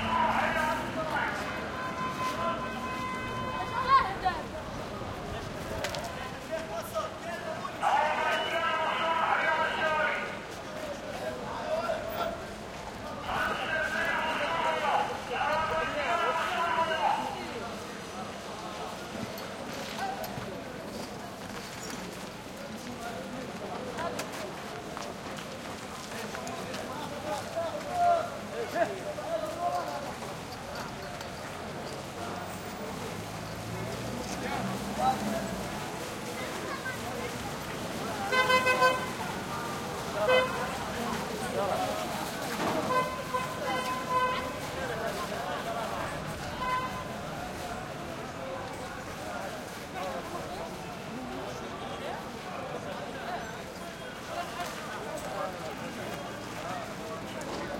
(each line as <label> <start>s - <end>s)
arabic voices vendors throaty 0.0s - 7.0s
orange vendor on PA 0.0s - 21.3s
traffic 0.0s - 57.7s
orange vendor on PA 22.9s - 52.8s